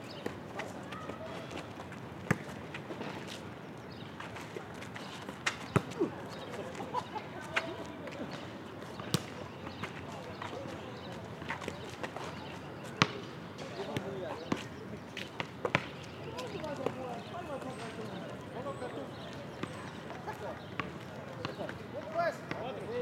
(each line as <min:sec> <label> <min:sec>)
0:05.3 volleyball match 0:22.9